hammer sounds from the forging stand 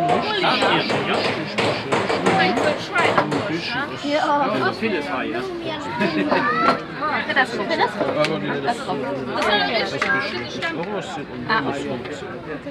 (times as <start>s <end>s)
0.0s 3.6s